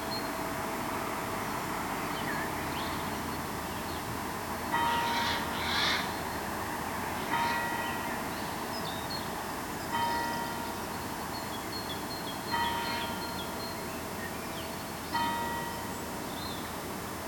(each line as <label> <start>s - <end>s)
bells 4.7s - 5.4s
Morning birds 4.8s - 6.5s
Morning birds 7.2s - 16.8s
bells 7.2s - 17.2s